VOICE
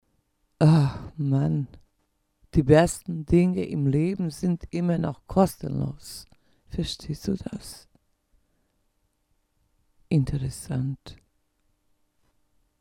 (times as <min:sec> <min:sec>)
0:00.6 0:01.8, 0:02.6 0:07.9, 0:10.1 0:11.2